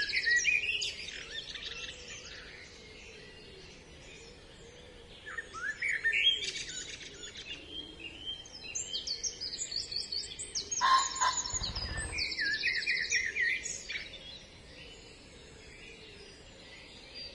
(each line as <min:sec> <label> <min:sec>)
0:00.0 birdsong 0:17.3
0:11.1 wing flapping of tits or finches 0:12.8